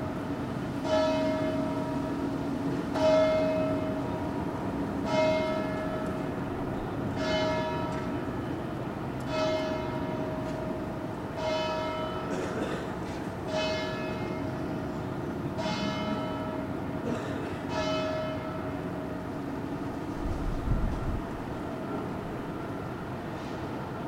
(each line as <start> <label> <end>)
0.0 Church Bells 24.0
0.0 Traffic 24.0
0.0 Wind 24.0